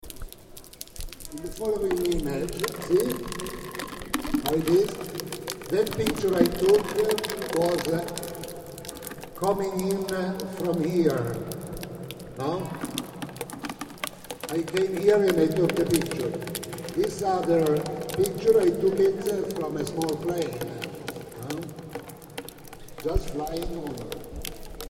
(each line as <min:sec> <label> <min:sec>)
0:00.0 Rain 0:24.8
0:01.3 Voice 0:03.3
0:04.4 Voice 0:05.1
0:05.7 Voice 0:08.2
0:09.4 Voice 0:11.4
0:12.4 Voice 0:12.9
0:14.5 Voice 0:16.4
0:17.0 Voice 0:21.7
0:23.0 Voice 0:24.2